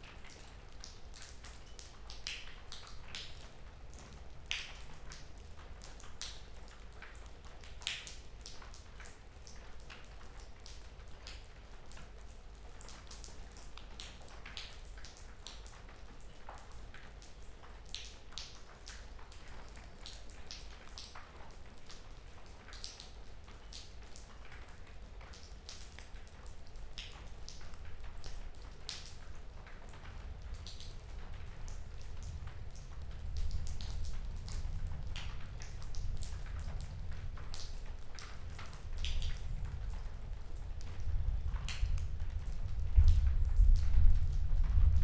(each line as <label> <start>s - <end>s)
rain dripping from the ceiling 0.0s - 45.0s